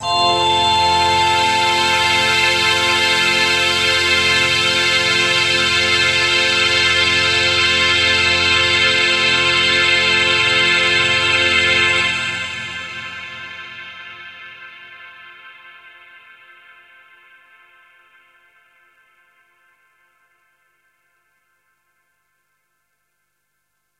Orchestra 0:00.0 - 0:13.1

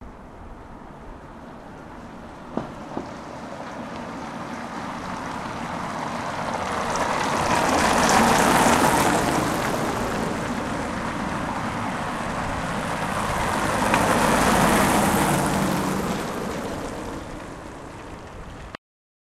Two cars passing by on a cobblestone road 0:00.0 - 0:18.7

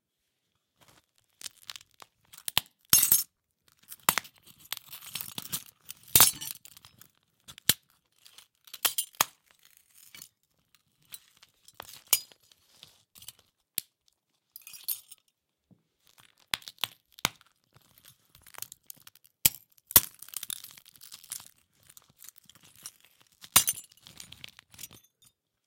cracking glass 0:03.9 - 0:06.7
cracking glass 0:18.5 - 0:25.3

